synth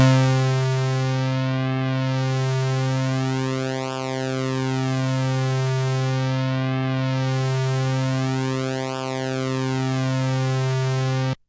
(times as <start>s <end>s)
0.0s 0.8s